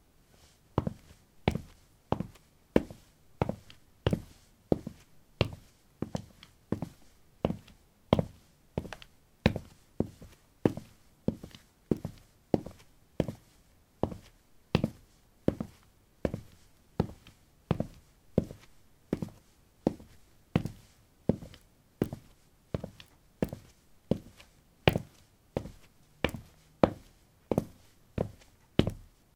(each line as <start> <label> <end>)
22.8 Walking on pavement tiles 24.3